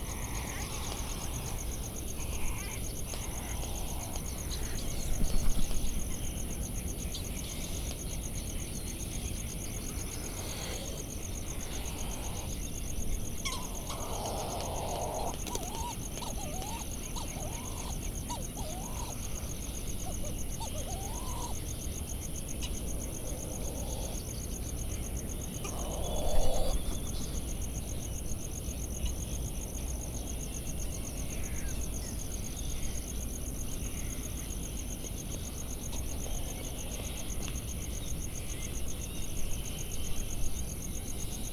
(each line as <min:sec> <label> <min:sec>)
0:00.0 laysan albatross 0:05.8
0:13.3 laysan albatross 0:27.7
0:13.4 white tern 0:19.4